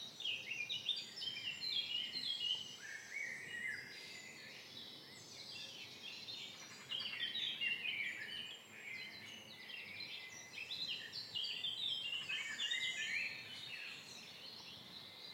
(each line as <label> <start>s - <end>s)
Morning Birds 0.0s - 15.3s